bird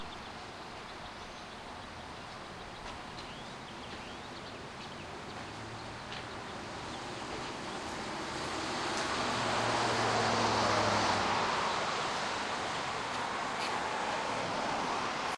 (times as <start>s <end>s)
0.0s 7.9s